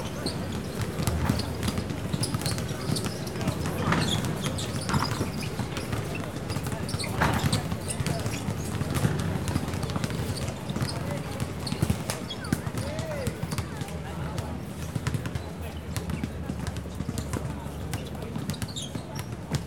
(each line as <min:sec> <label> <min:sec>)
0:00.0 Basketball court 0:19.6
0:00.0 Traffic Noise 0:19.6